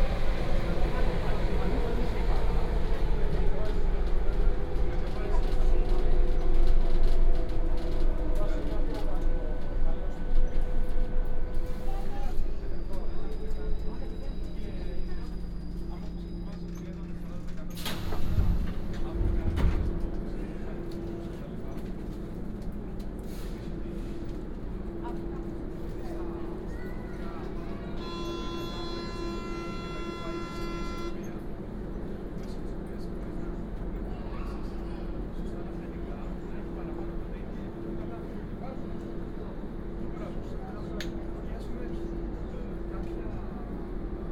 Metro ride 0:00.0 - 0:44.3

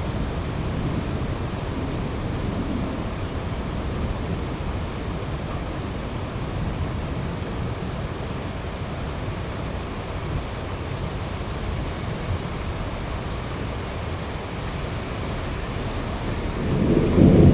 distant thunderstorm 0:00.0 - 0:07.5
Heavy rain 0:00.0 - 0:17.5
distant thunderstorm 0:15.2 - 0:17.5

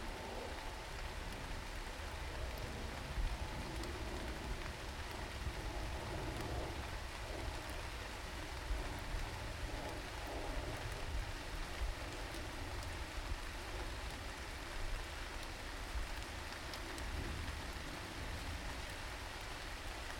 rain 0:00.0 - 0:20.1
aeroplane overhead 0:00.0 - 0:14.8

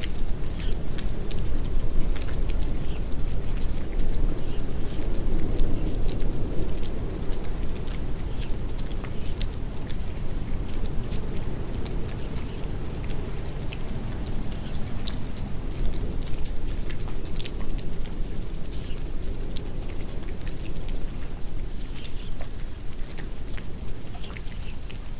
Endless rain 0:00.0 - 0:25.1

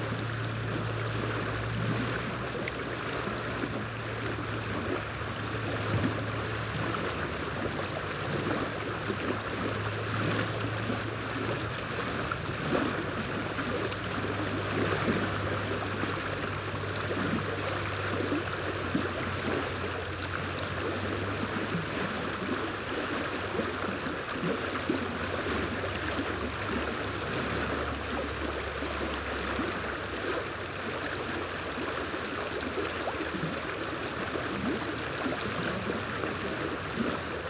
troubled water 0:00.0 - 0:37.4

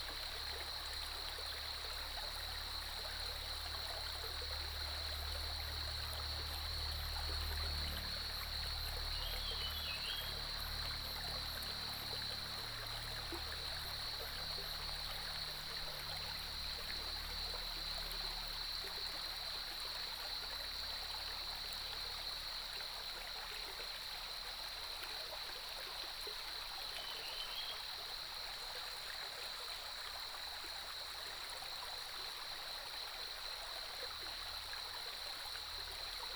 Cicadas cry 0:03.3 - 0:19.3
Cicadas cry 0:27.0 - 0:27.9

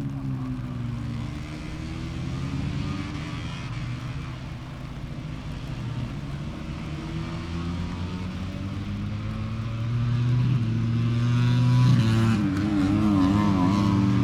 moto three qualifying 0:00.0 - 0:14.2
rain on umbrella 0:00.0 - 0:14.2

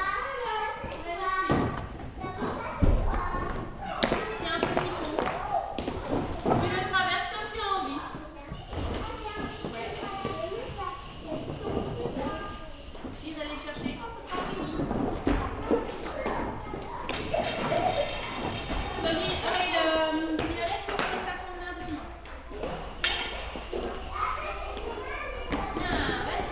very young child 0:08.2 - 0:13.1
very young child 0:23.7 - 0:26.5

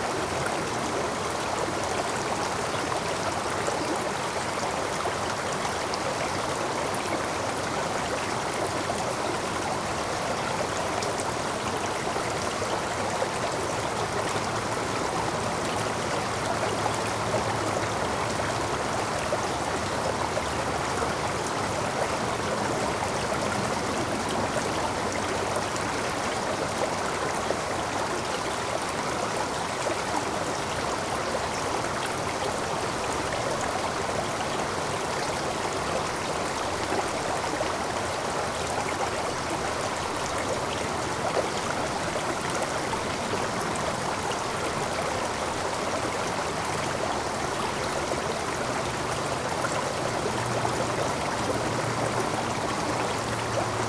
Small Stream 0:00.0 - 0:53.8

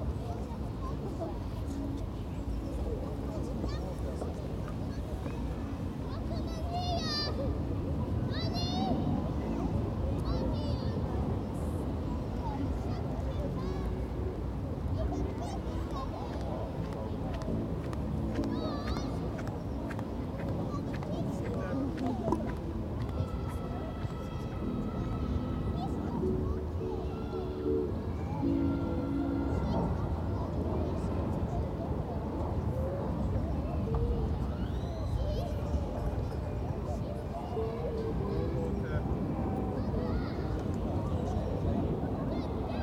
wind 0:00.0 - 0:42.8

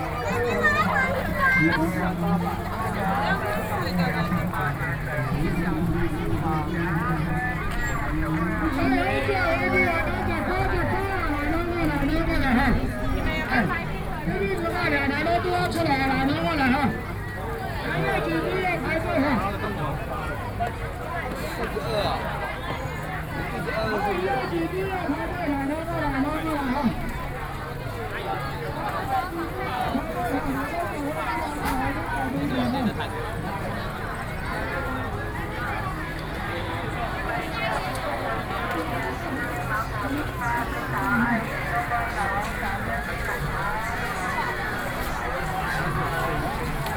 Various shops sound 0:20.0 - 0:46.9

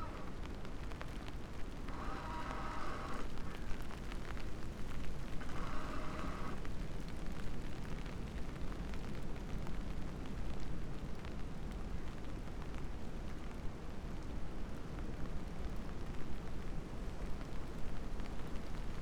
creaking tree 0:00.0 - 0:00.5
creaking tree 0:01.6 - 0:04.1
creaking tree 0:05.0 - 0:06.7

